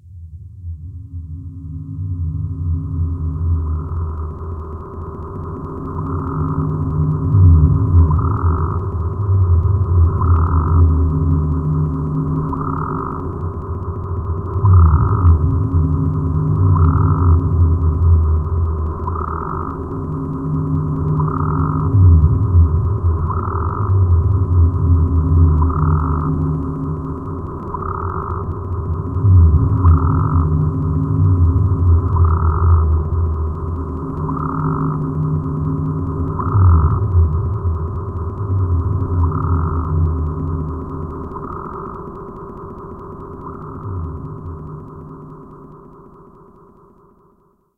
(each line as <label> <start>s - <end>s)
really low frequency sound 0.0s - 46.0s
looped pad-like sound 0.6s - 47.5s
frog-like sound that's looped 1.0s - 47.7s